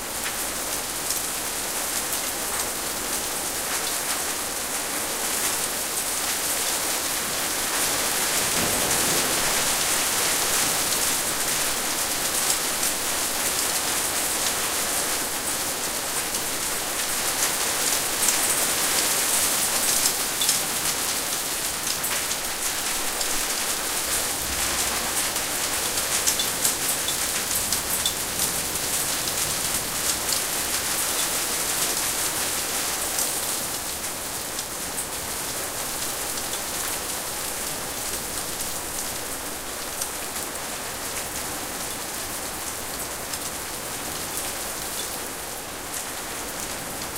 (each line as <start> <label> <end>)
0.0 rain 47.1
8.4 thunder in the background 10.9